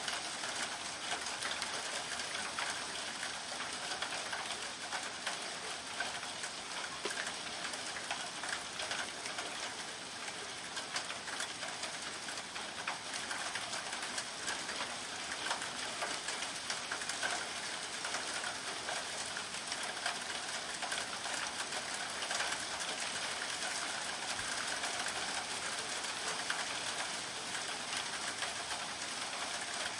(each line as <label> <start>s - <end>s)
Soft Rain 0.0s - 29.9s